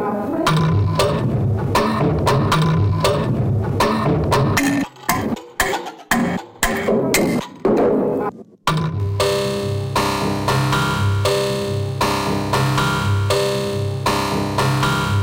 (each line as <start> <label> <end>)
0.5 Drum Loop 15.2